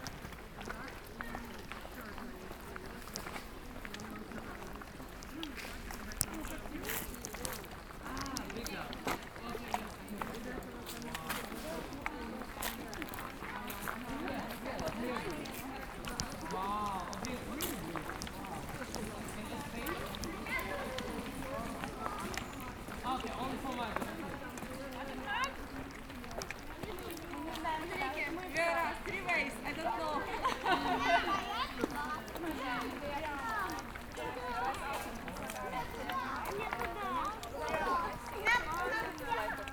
walking together with a little girl 0.0 - 39.7

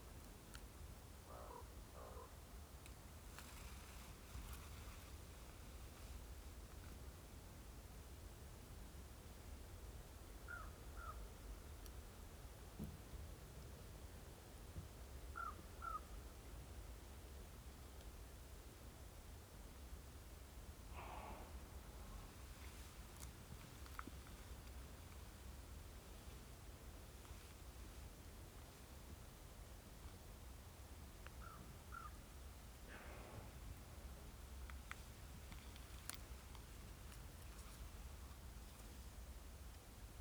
shuffling a little in the dry red and brown leaves 3.2 - 6.2

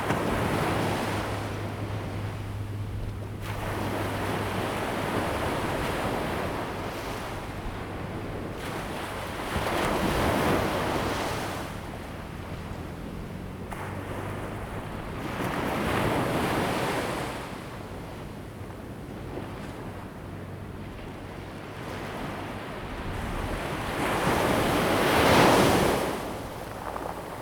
waves 0.0 - 27.4

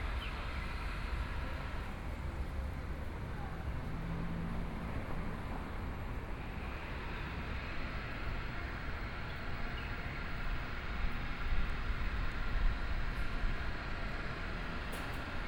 Traffic Sound 0.0 - 11.2
walking in the Street 0.0 - 15.4

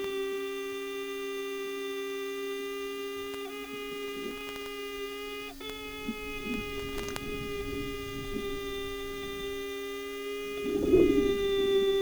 displaying hoverfly 4.3 - 12.0
Sound inside the rail 5.7 - 12.0

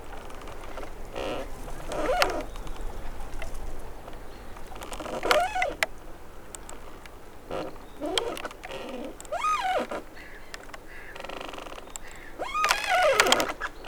damaged tree swaying in the wind 0.0 - 13.8

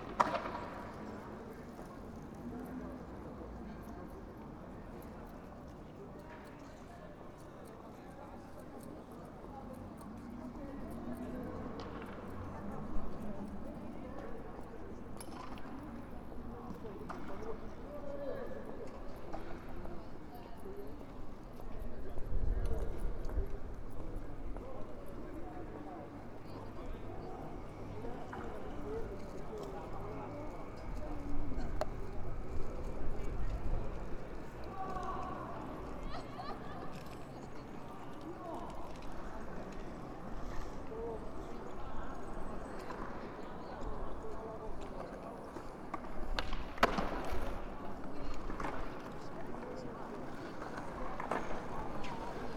skaters 0.0 - 52.5

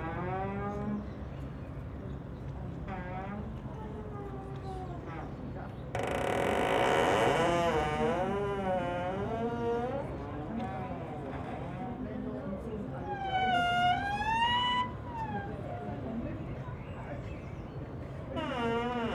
squeeking landing stage 6.0 - 9.7

